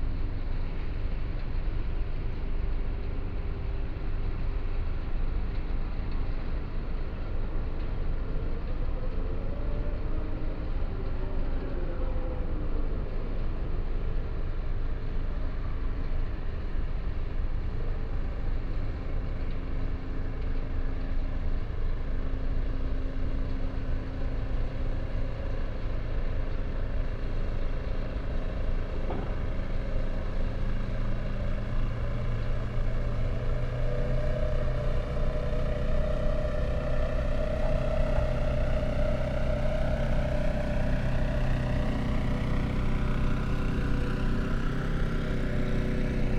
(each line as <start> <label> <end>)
28.3 busy concrete factory 32.0